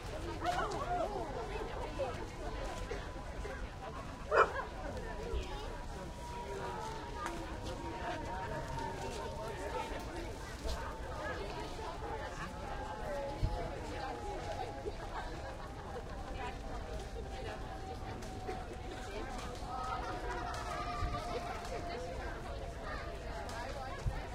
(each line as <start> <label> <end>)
0.0 People milling about buying and selling produce 24.3